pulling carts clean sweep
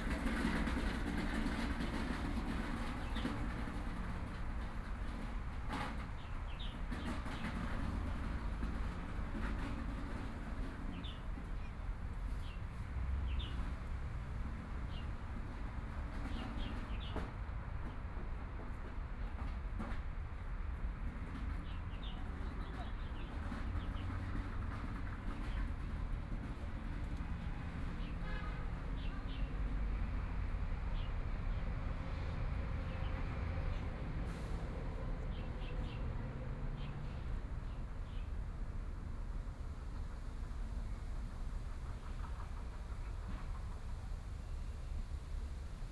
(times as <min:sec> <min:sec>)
0:00.0 0:11.6, 0:32.9 0:38.4